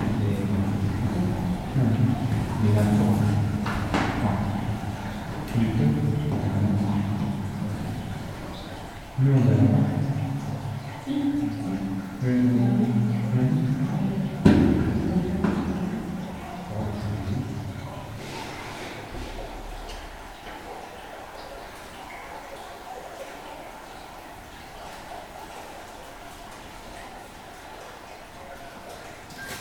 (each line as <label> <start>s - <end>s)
Discussing about the way we will take into the underground mine 0.0s - 29.2s